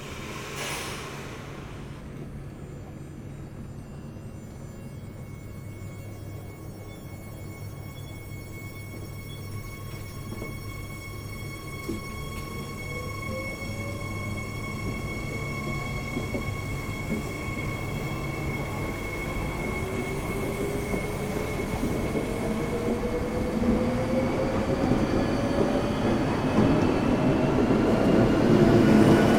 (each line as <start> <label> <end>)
0.0 train to Paris arrives 29.3